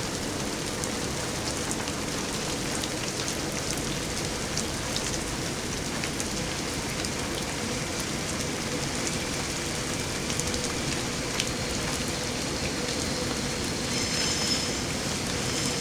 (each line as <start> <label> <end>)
0.0 rain 15.8
9.2 Train Going Past 15.8